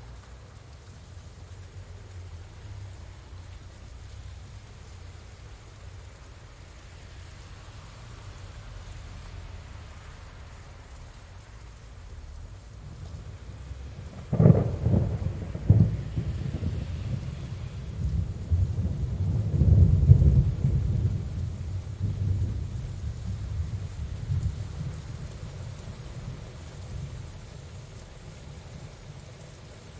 0.0s rain 29.9s
0.0s wind 29.9s
13.8s Thunder going off 25.0s

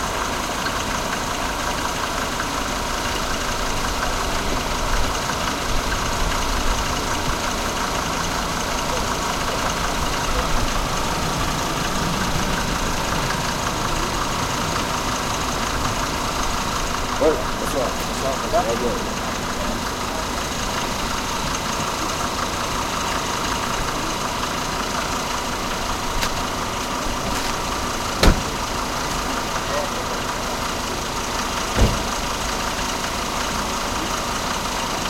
0.0s hissy throaty truck pull up and idle 35.0s

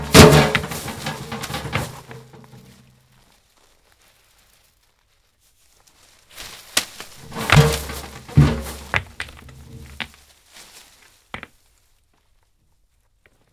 0.0s metal violent hits 2.2s
0.0s rocks rolling 4.6s
5.9s rocks rolling 13.5s
7.2s metal violent hits 9.0s

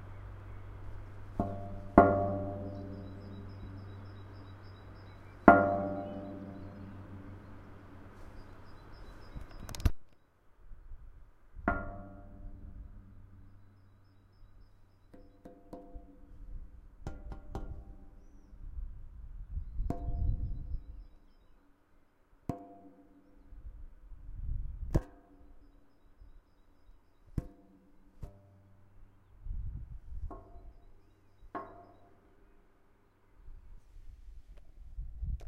0.0s distant birds 10.4s
1.4s kicking in a huge metal structure 3.8s
5.5s kicking in a huge metal structure 7.4s
11.7s distant birds 18.9s
19.5s distant birds 22.3s
25.4s distant birds 33.7s

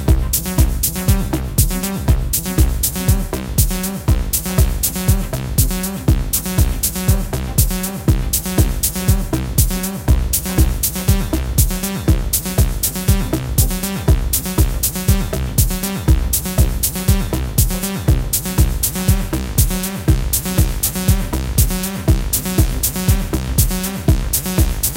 0.0s Acid Bass 24.9s
0.0s Hi Hats 24.9s
0.0s Kick 24.9s

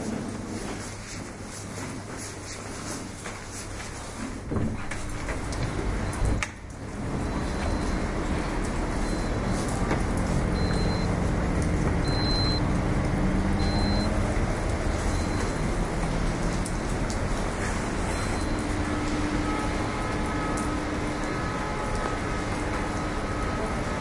0.0s rain 24.0s

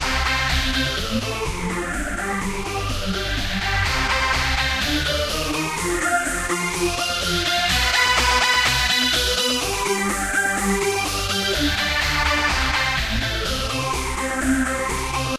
0.0s Trance Lead 15.3s

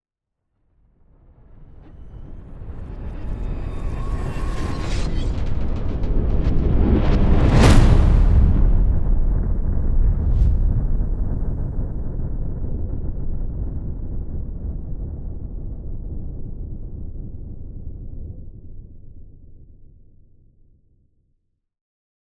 1.9s whoosh 12.8s
2.2s riser 12.4s
2.3s explosion 14.2s
2.3s implosion 14.2s
7.2s boom 13.7s

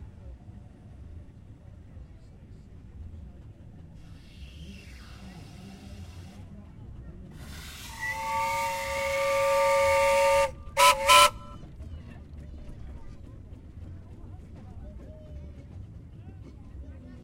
7.5s Traction engine whistling as it passes by 11.8s

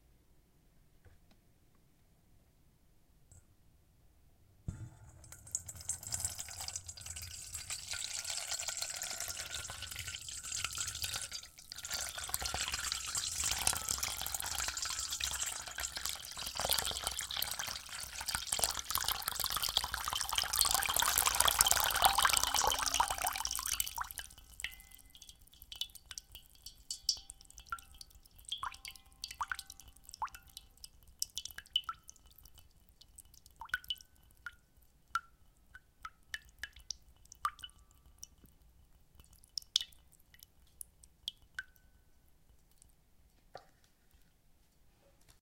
4.7s water being poured slowly from a kettle into a metal bowl 43.0s

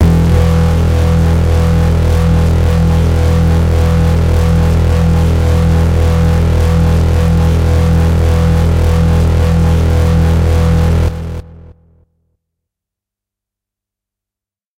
0.0s hard, harsh lead sound 11.6s

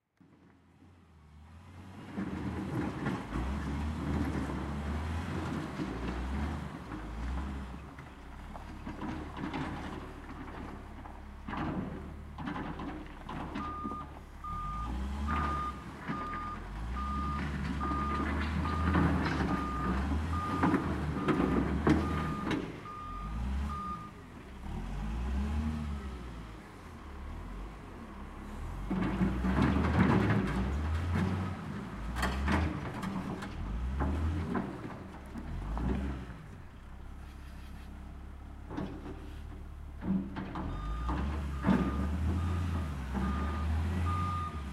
0.2s wheel loader in action 44.7s

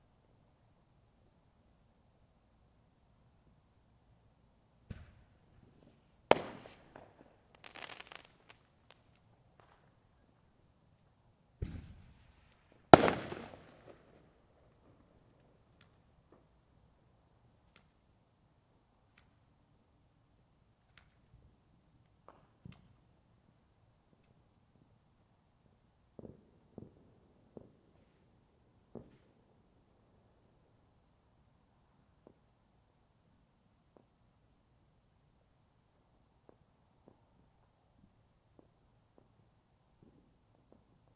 4.8s Fireworks 10.5s
11.6s Fireworks 16.6s
20.8s Fireworks 24.9s
25.6s Fireworks 30.8s
31.6s Fireworks 32.6s
36.3s Fireworks 41.1s

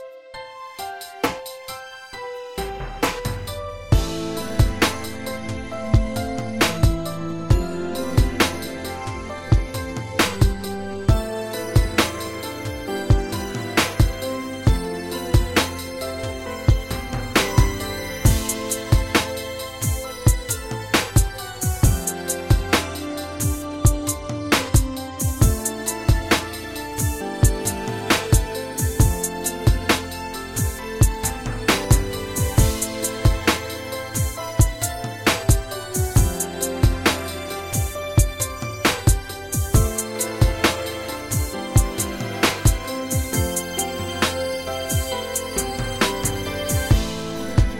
0.0s hip hop beat 47.7s

